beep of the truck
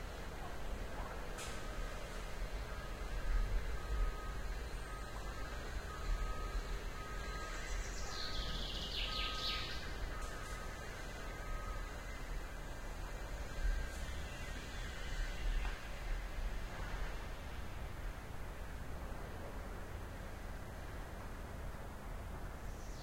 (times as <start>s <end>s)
2.6s 12.8s